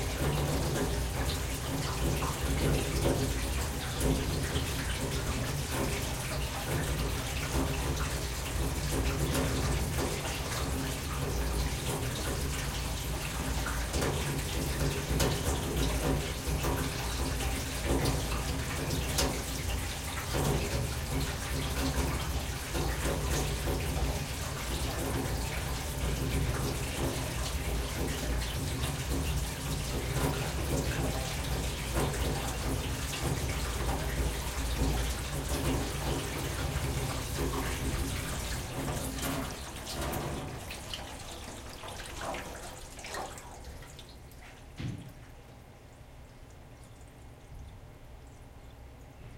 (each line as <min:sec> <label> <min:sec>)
0:00.0 water drain from large metal sink gurgle pipe 0:49.3